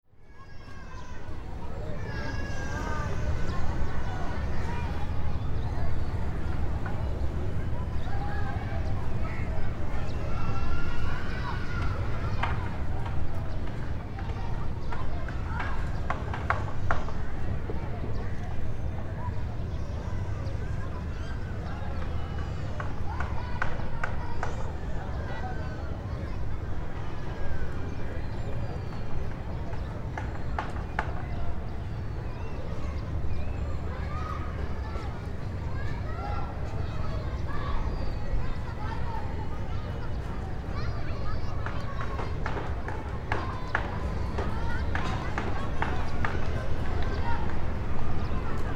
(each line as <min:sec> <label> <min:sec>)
0:00.1 overhead airplanes 0:48.7